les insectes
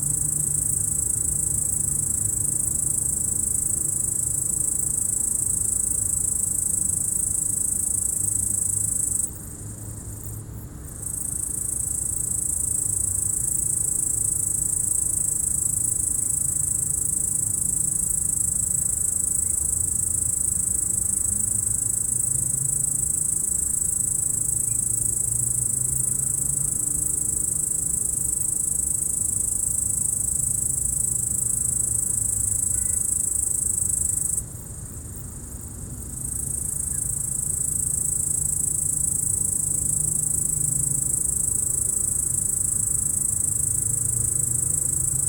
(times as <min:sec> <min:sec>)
0:11.0 0:45.2